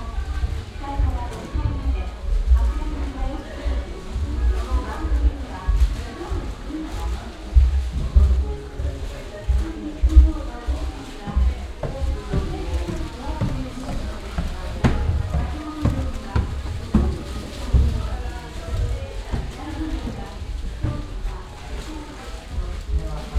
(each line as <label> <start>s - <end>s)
peoples bare feet on the wooden ground 0.0s - 23.3s
plastic bags where they carry their shoes 0.0s - 23.3s